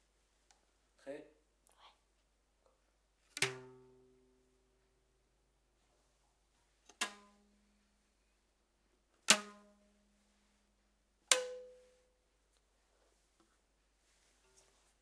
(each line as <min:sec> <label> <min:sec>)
0:02.6 sound played with a rubber band 0:04.8
0:06.6 sound played with a rubber band 0:08.0
0:09.0 sound played with a rubber band 0:15.0